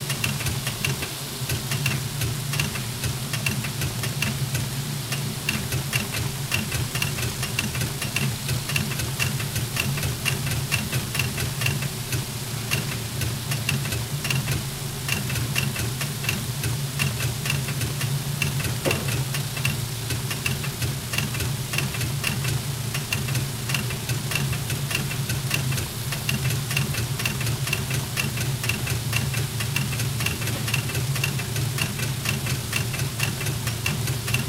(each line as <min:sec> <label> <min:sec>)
0:17.1 Letter sorting machine 0:20.6